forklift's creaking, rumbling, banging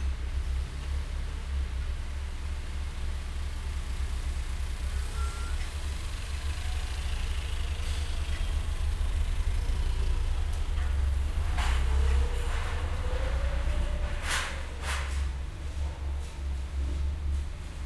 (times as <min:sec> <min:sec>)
0:07.9 0:17.8